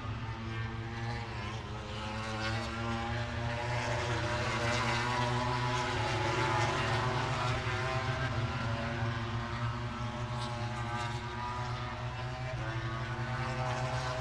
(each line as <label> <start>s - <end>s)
moto grand prix 0.0s - 14.2s